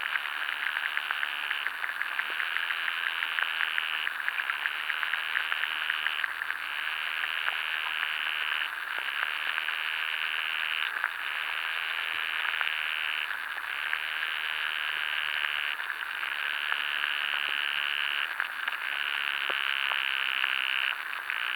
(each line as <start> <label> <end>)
0.0 underwater life in river 21.5